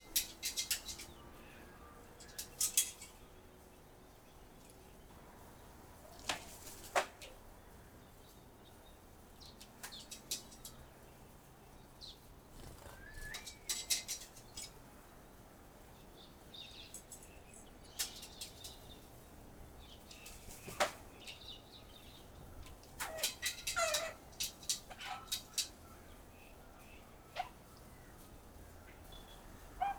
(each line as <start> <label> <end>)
0.0 Robins moving about on a tin roof 29.9
20.1 Finch on a tin roof 21.5